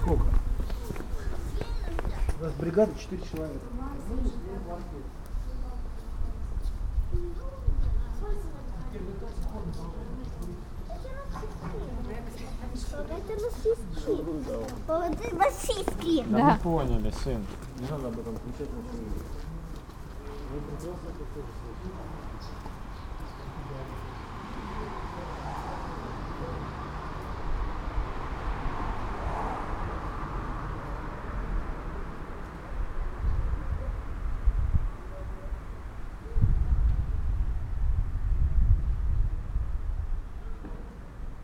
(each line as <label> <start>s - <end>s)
people talking 0.0s - 3.0s
car traffic 0.0s - 6.6s
people passing by 0.0s - 41.4s
people talking 3.8s - 19.3s
car traffic 8.2s - 38.3s
winds in tree crown 32.5s - 41.4s